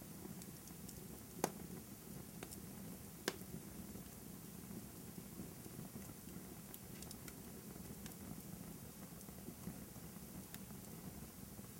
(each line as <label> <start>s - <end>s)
small to medium fire in a fireplace 0.0s - 11.7s
cracks and pops 0.4s - 1.7s
cracks and pops 2.4s - 2.6s
cracks and pops 3.2s - 3.5s
cracks and pops 6.7s - 8.2s